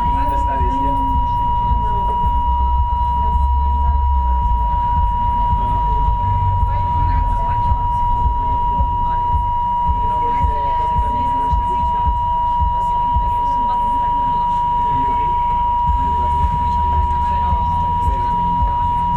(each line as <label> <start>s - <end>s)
broken intercom system 0.0s - 19.1s